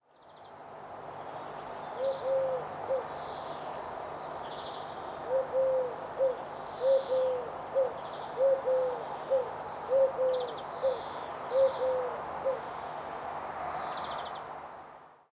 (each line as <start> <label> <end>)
2.0 eagle-owl 3.1
5.2 eagle-owl 12.7